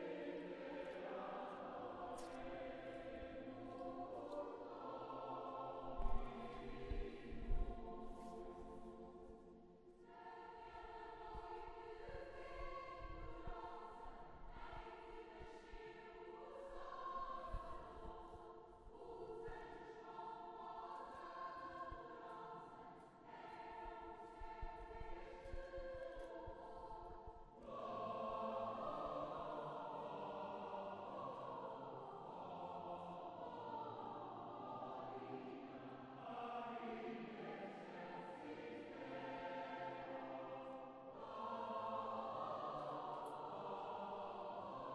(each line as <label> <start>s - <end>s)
choir concert 0.0s - 44.9s